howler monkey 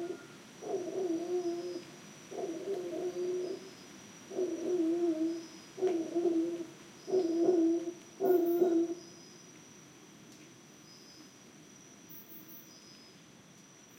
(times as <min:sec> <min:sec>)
0:00.0 0:03.7, 0:04.3 0:09.0